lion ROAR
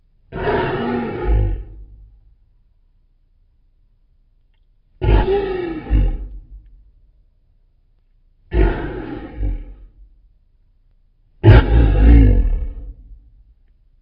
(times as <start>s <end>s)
0.3s 2.0s, 5.0s 6.6s, 8.5s 10.0s, 11.4s 13.2s